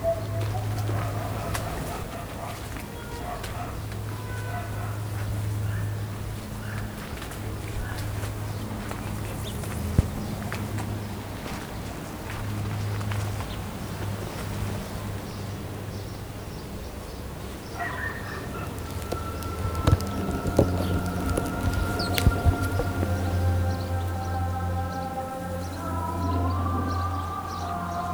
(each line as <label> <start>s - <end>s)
busy bus stop 0.0s - 28.1s
russian flags dance in the mild wind 0.0s - 28.1s
street dogs 0.0s - 28.1s
traffic 0.0s - 28.1s
tourists 16.4s - 28.1s
single aeroplane passes 18.2s - 28.1s